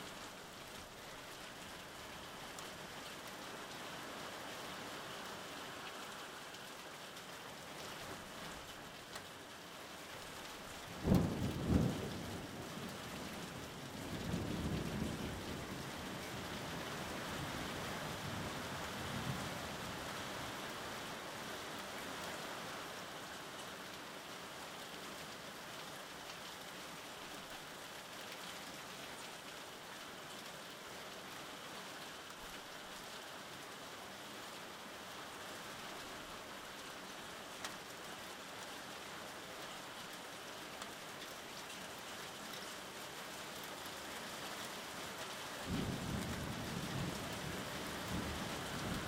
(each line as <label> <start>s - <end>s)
rain 0.0s - 49.0s
thunder 11.0s - 12.3s
thunder 45.7s - 47.4s